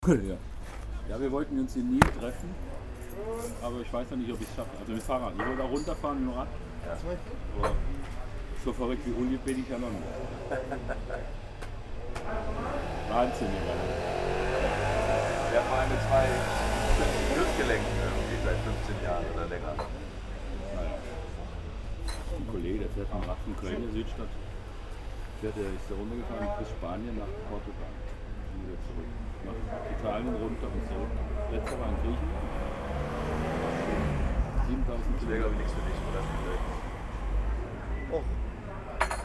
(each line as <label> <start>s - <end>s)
guests outside 0.0s - 39.2s